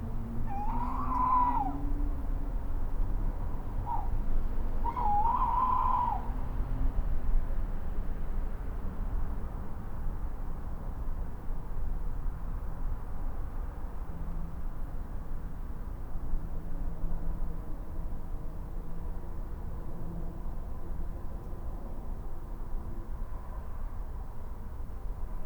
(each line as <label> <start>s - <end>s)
Owls in the night 0.2s - 7.1s